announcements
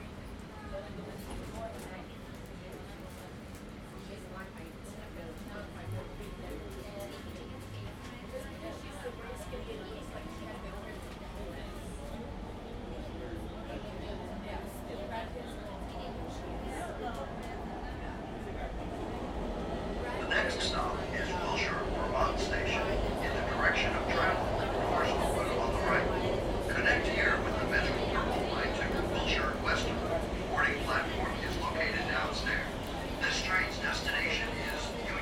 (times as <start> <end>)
15.8 35.2